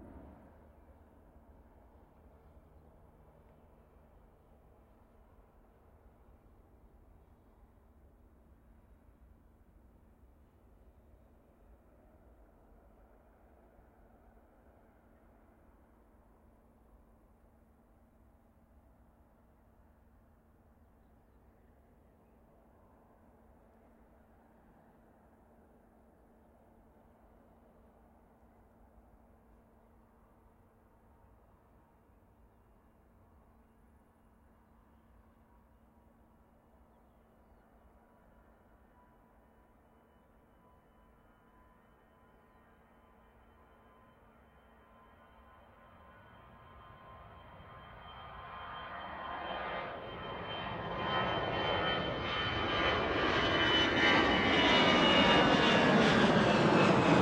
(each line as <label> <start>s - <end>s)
AIRPLANES TAKEOFF 45.0s - 57.2s